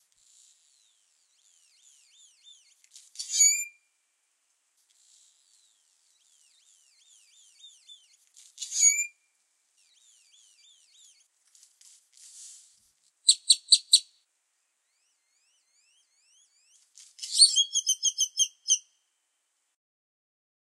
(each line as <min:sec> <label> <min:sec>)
0:00.4 Bird Chirps 0:03.9
0:05.0 Bird Chirps 0:11.3
0:13.3 Bird Chirps 0:14.2
0:14.8 Bird Chirps 0:19.0